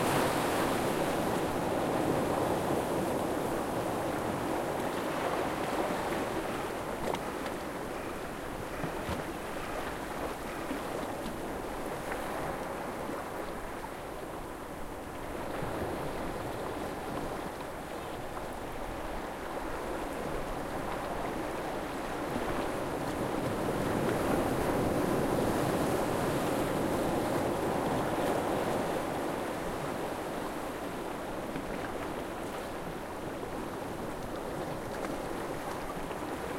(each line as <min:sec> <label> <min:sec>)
0:00.0 shore sound 0:03.8